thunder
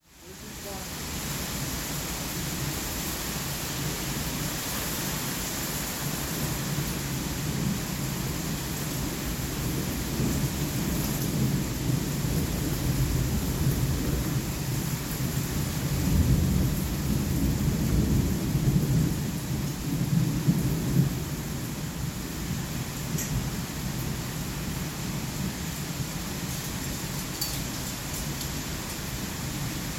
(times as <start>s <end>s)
9.1s 21.8s